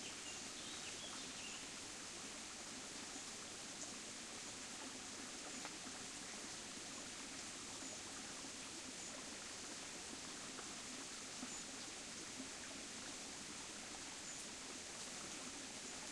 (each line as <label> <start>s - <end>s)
Occasional birdsong 0.0s - 1.7s
small creek flows over pebbles and around rocks 0.0s - 16.1s